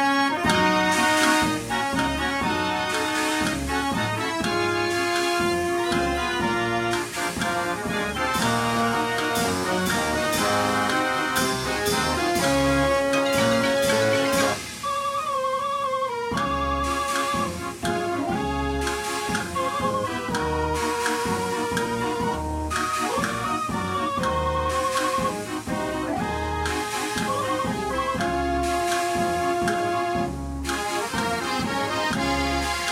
mechanized organ and music machine 0.0 - 32.9

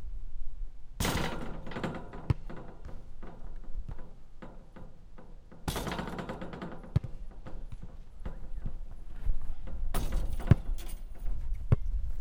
basket ball on the tartan 1.0 - 12.1

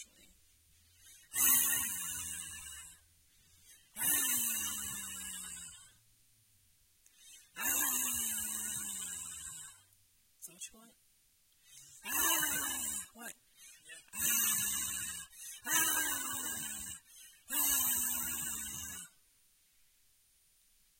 woman growl 12.0 - 13.2
woman growl 14.1 - 19.1

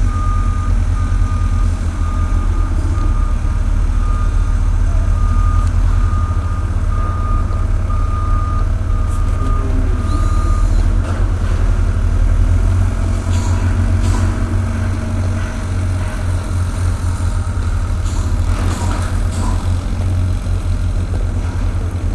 softer construction sounds 0.0 - 22.1

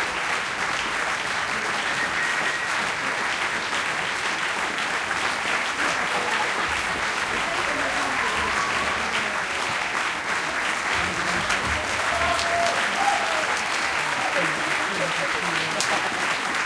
End Applause 0.0 - 16.6
audience 0.0 - 16.6

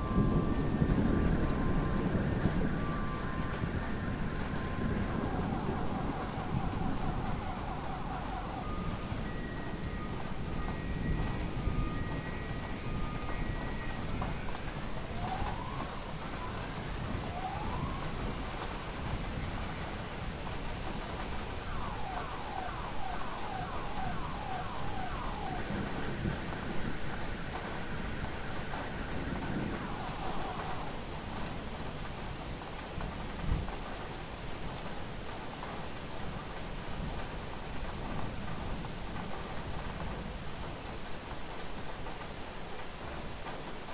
thunder lightning close 0.0 - 32.4
rain 0.0 - 43.9
sirens 0.0 - 43.9

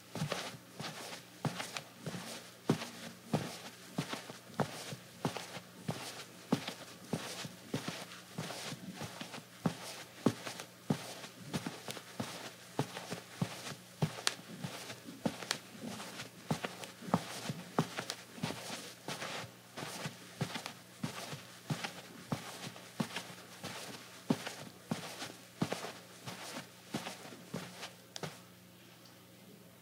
Slippers on rug, slow pace 0.0 - 28.5

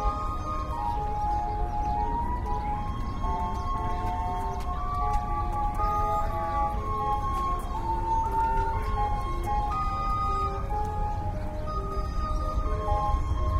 bird calls 0.0 - 13.5
people 0.0 - 13.5
steam-organ / calliope of the steamboat 0.0 - 13.5

